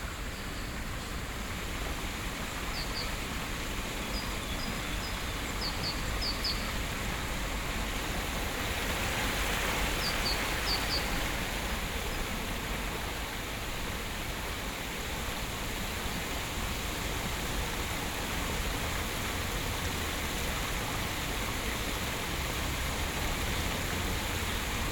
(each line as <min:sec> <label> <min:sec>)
0:00.0 little brook 0:24.9
0:09.8 birds 0:11.4